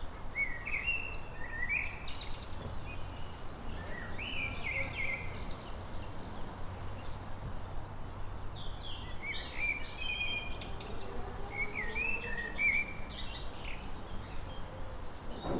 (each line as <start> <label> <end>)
0.0 Birds 15.5
0.0 distant traffic 15.5
9.4 people working in the distance 15.5